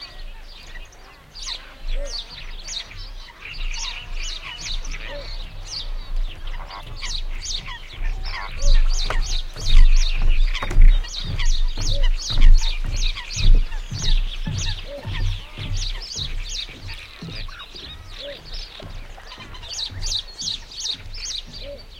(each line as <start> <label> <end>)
0.0 Starling 21.9
0.0 Warbler 21.9
0.0 footsteps on a wooden catwalk 21.9
0.0 Coot 21.9